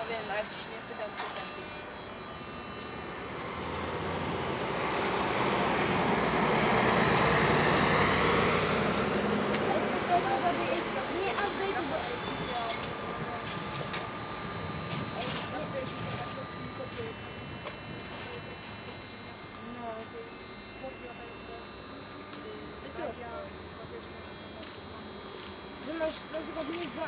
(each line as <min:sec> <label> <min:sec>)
0:04.8 kids talking 0:25.1
0:08.8 lamp post spreading glitchy noise 0:19.6
0:25.7 kids talking 0:27.0